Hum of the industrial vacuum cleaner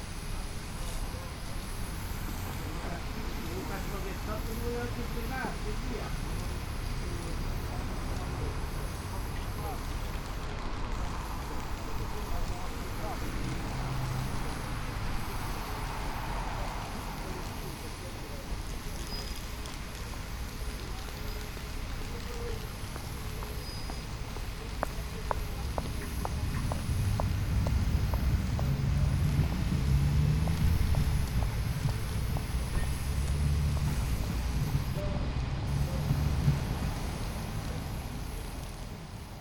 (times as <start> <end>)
20.4 35.0